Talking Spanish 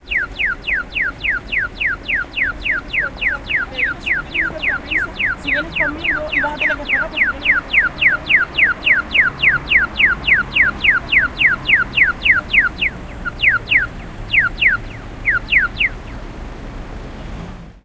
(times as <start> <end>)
2.6 8.2